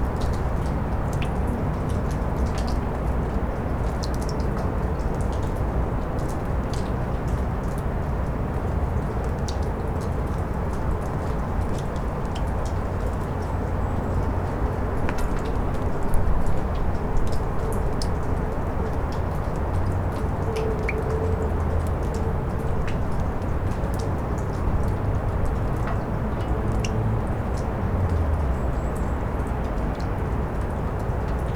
cacophony of cityscape 0.0 - 31.5

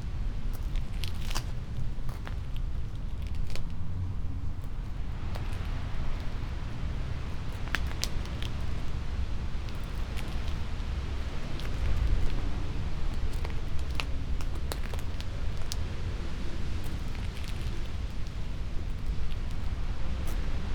wind high above in tree crowns 0.0 - 20.7
walking 16.7 - 20.7

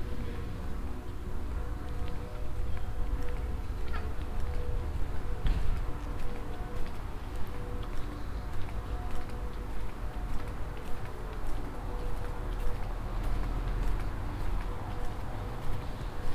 walking in the morning time along the keizergracht channel 0.0 - 16.3

